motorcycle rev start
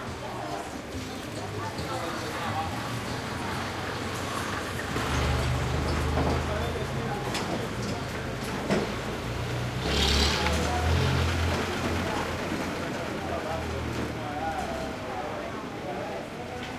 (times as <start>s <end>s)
9.6s 12.1s